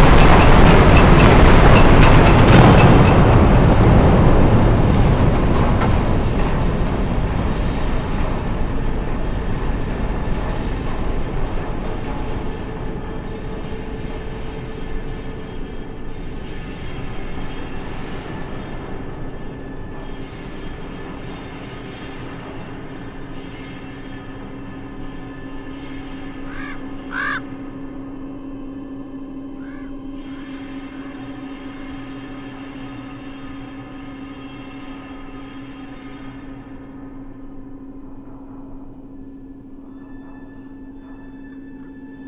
0.0s Earthquake and Aftershocks 13.7s

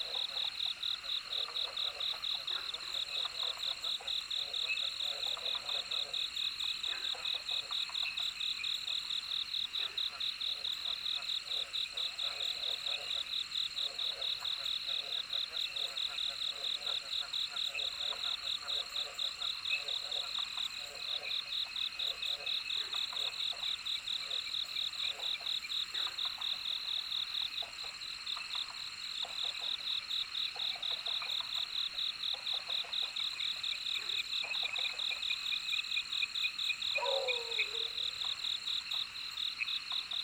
0.0s Frogs chirping 40.2s
0.0s Insects called 40.2s
37.0s Dogs barking 38.1s
37.0s Bird sounds 38.4s

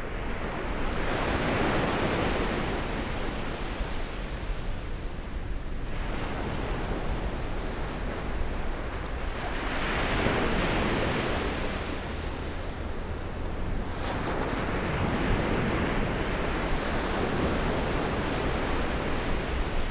0.0s waves 19.9s

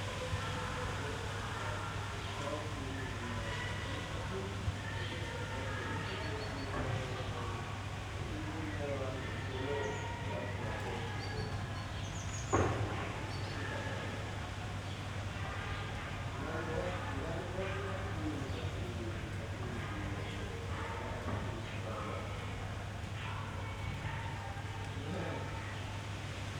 0.0s voices in the backyard 26.5s
0.0s wind 26.5s

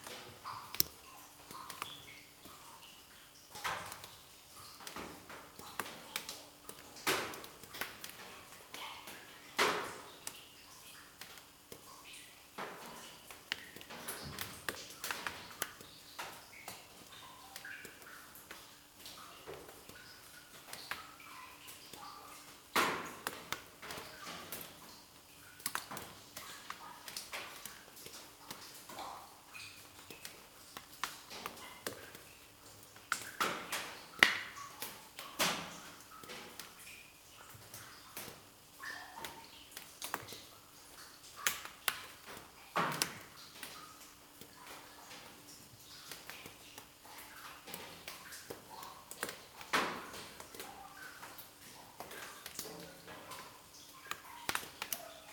0.0s small drops are falling 55.3s

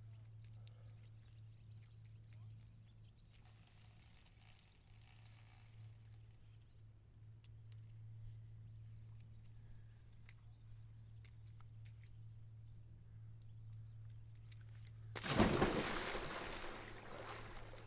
15.2s Going for a swim 17.8s

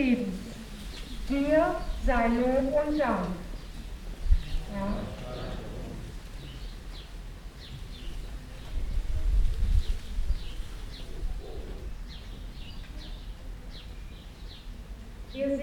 0.0s Prayers 6.8s
0.0s birds 15.6s
0.0s rustling of leaves 15.6s
4.7s Prayer leader with megaphone 6.1s

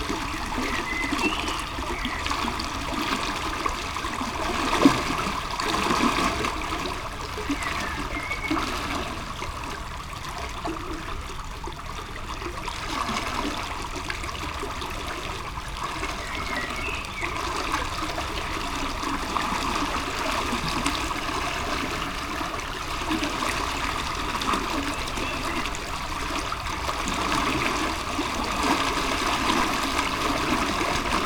0.0s river 31.2s

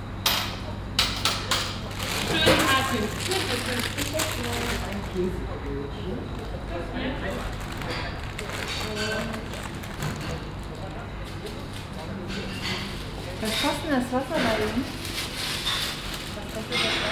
0.0s voices of the shop assistants and the customer 17.1s
1.8s paper bags 12.1s
14.5s paper bags 17.1s

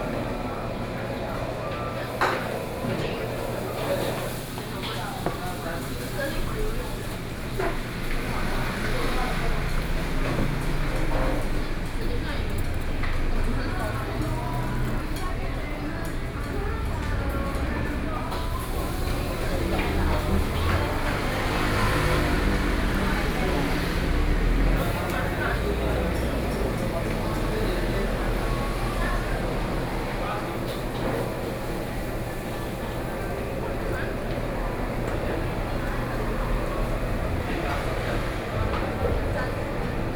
0.0s Traffic Sound 40.1s

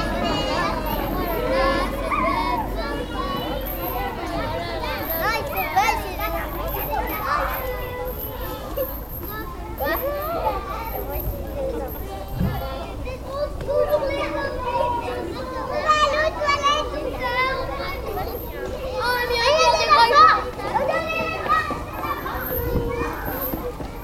0.0s Children playing 24.0s

